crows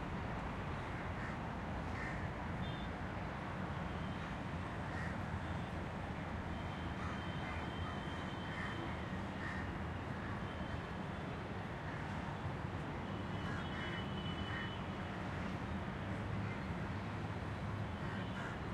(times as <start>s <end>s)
0.9s 2.3s, 4.8s 5.2s, 7.0s 8.8s, 9.4s 10.4s, 18.0s 18.6s